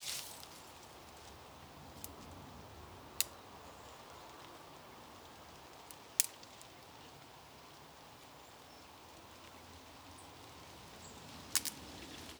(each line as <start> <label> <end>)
0.0 birds chirping 12.3
0.0 trees rustling 12.3
0.0 Sticks snapping 8.3
11.4 Sticks snapping 12.3